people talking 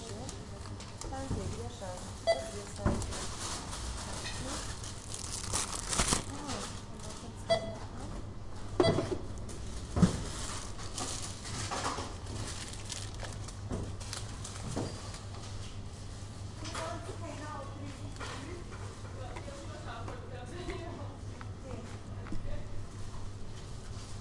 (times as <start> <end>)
0.0 3.3, 6.2 7.5